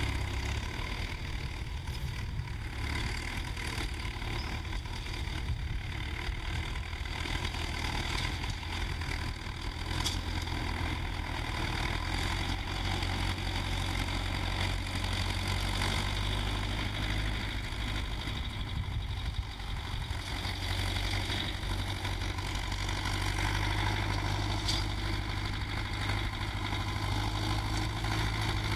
tractor ploughing 0.0 - 28.7

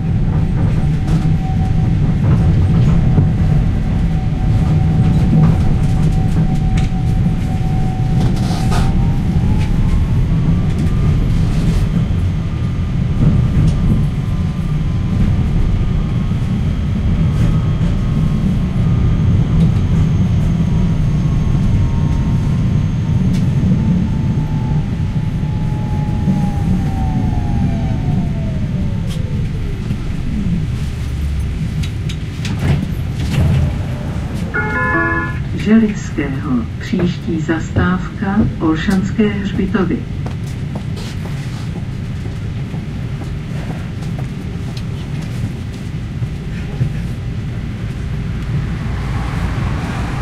TRAM ride inside 0.0 - 50.2

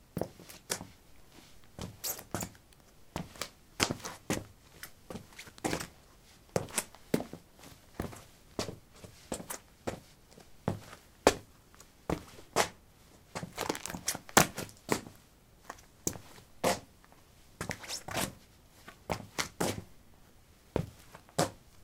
squeakysportshoes shuffle 0.3 - 2.6
squeakysportshoes shuffle 13.4 - 16.8
squeakysportshoes shuffle 17.6 - 19.9

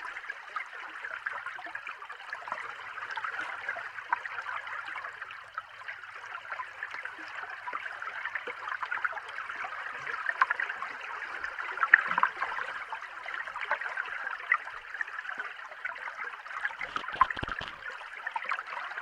waves 0.0 - 19.0
bubble 16.7 - 18.0

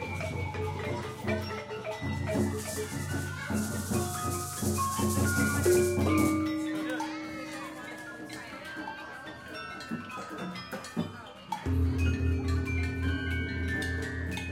gongs 0.0 - 8.7
bells 0.0 - 14.5
drums 0.0 - 14.5
gamelan instruments 0.0 - 14.5
marimbas 0.0 - 14.5
schoolgroup of children 0.0 - 14.5
stringed instruments 0.0 - 14.5
xylophones 0.0 - 14.5
gongs 11.6 - 14.5

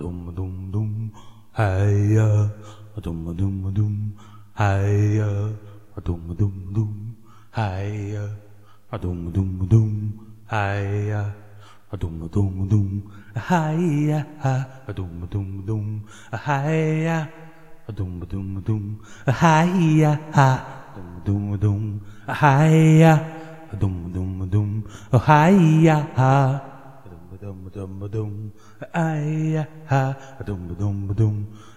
vocal 0.0 - 31.7

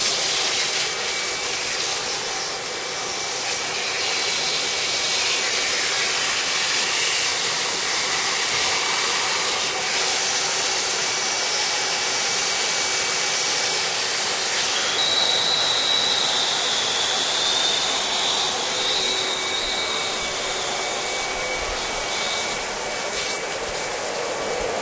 home vacuum cleaner 0.0 - 24.8

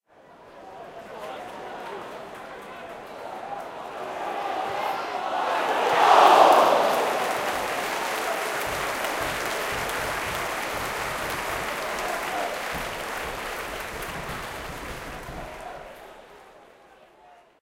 small stadium crowd 0.0 - 17.6

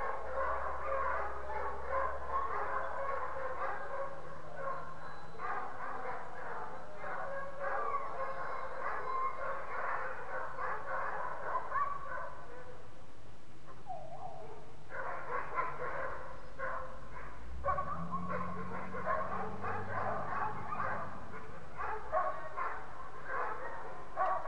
Dogs bark, whine, and howl 0.0 - 12.8
Dogs bark, whine, and howl 13.7 - 24.4

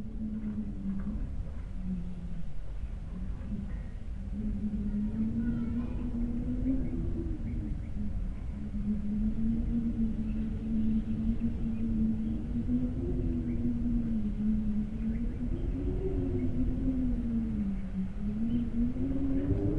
Wind Howl 0.0 - 19.7

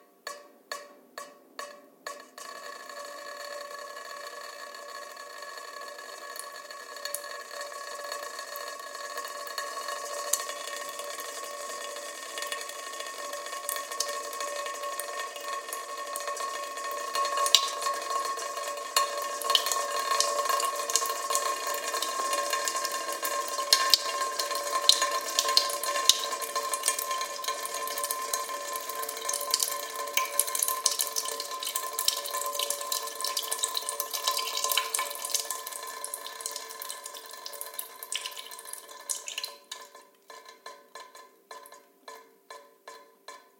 dripping 0.7 - 43.5

